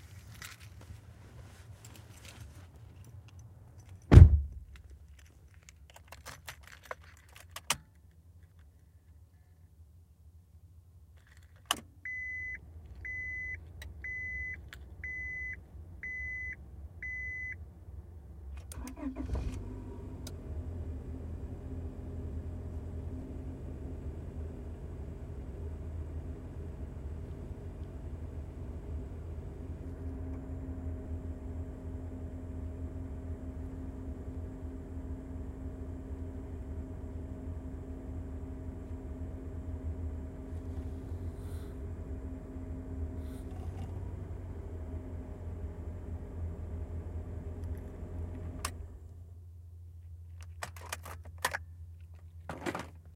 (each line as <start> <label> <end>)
18.7 honda accord starting up 49.0